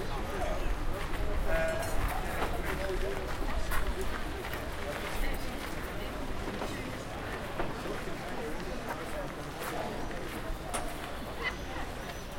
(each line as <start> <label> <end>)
0.0 people 12.3